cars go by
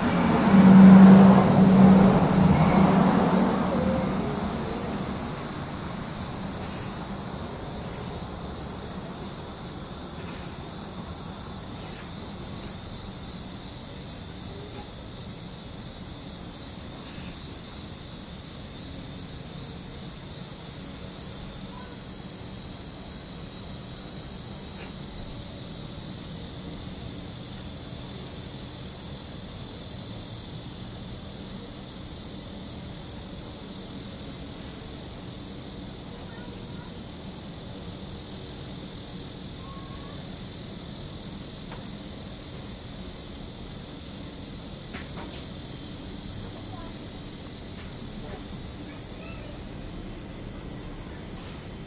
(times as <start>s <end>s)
0.0s 17.8s